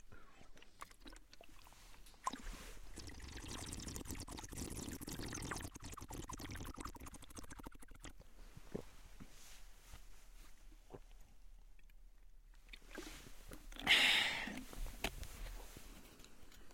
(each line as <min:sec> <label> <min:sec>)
0:00.0 male slurping water 0:08.9
0:12.6 male slurping water 0:15.1